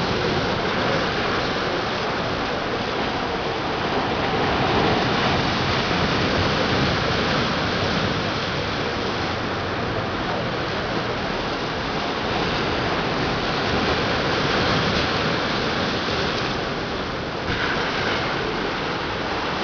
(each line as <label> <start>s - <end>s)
surf on the seafront 0.0s - 19.6s